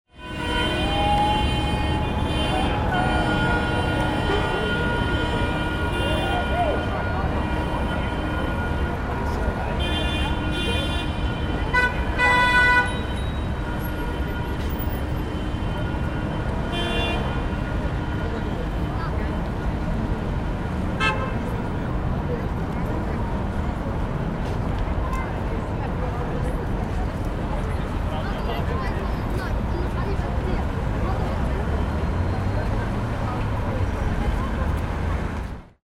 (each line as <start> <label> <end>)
0.1 Traffic 35.8
0.1 car horns 18.8
20.9 car horns 21.5